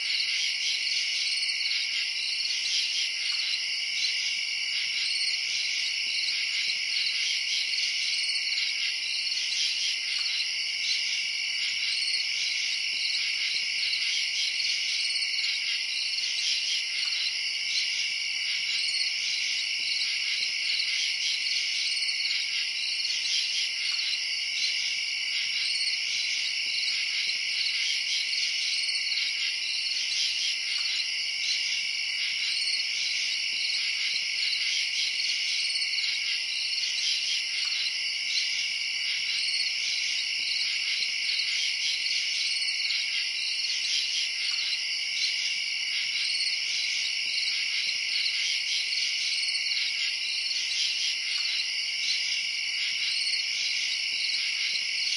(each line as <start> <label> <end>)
0.0 crickets 55.1